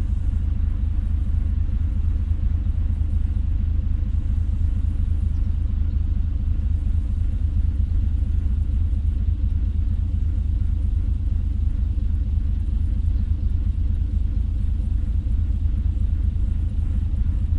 0.0s Ferry over the river Elbe 17.5s

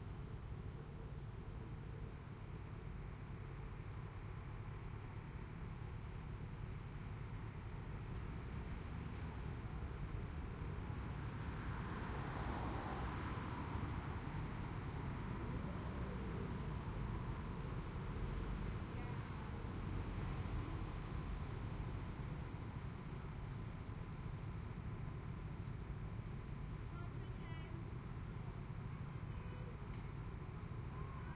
0.0s Traffic 31.3s

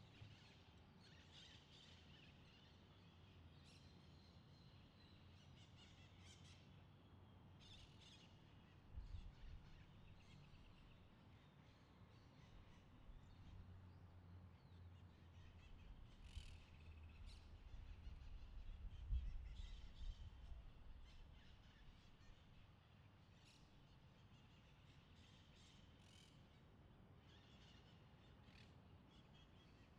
0.0s Birds 29.9s
0.0s Wind 29.9s

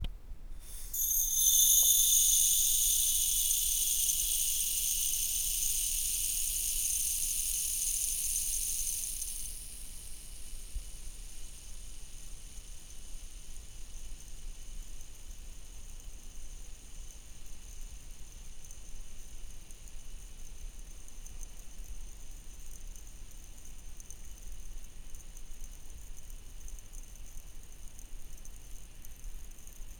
0.7s sandclock 10.0s

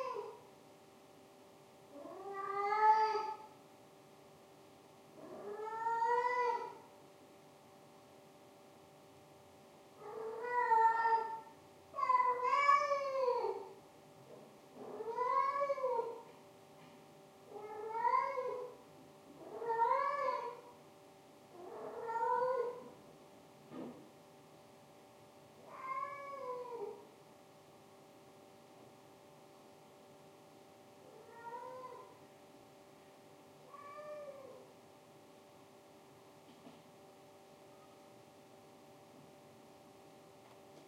0.0s cat in heat 40.8s

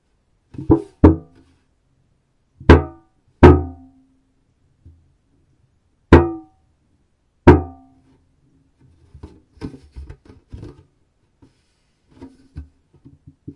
0.5s big metal tin being handled and pressed 1.4s
8.9s big metal tin being handled and pressed 10.9s
12.1s big metal tin being handled and pressed 13.5s

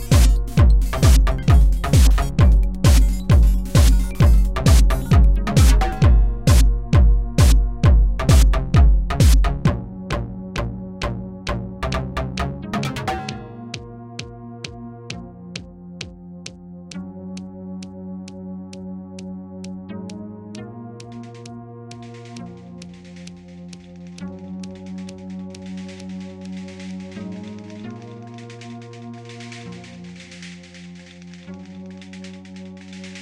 0.0s drum 9.8s
0.0s bass 33.2s
0.0s synthesizer 33.2s

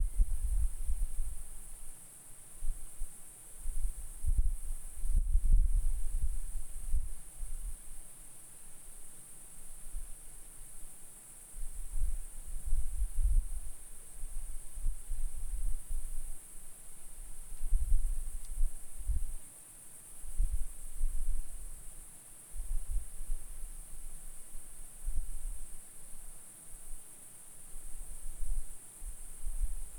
0.0s Night Cicada 29.9s

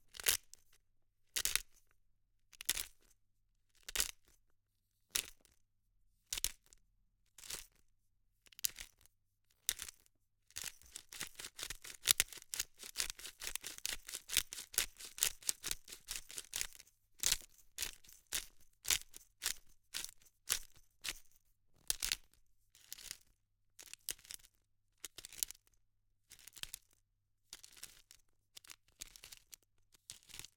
8.5s Grinding peppercorns in a pepper mill 25.6s
26.3s Grinding peppercorns in a pepper mill 30.5s

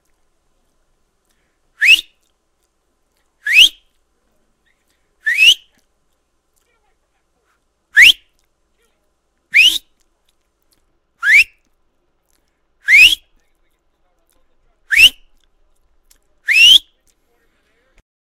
1.8s Whistle from lips 2.3s
3.4s Whistle from lips 3.9s
5.2s Whistle from lips 5.7s
8.0s Whistle from lips 8.3s
9.5s Whistle from lips 10.0s
11.2s Whistle from lips 11.7s
12.8s Whistle from lips 13.3s
14.9s Whistle from lips 15.4s
16.5s Whistle from lips 17.0s

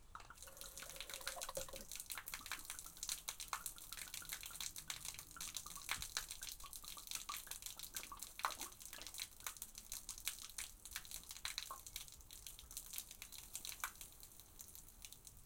0.1s Liquid Gurgle Pour Splash 9.4s

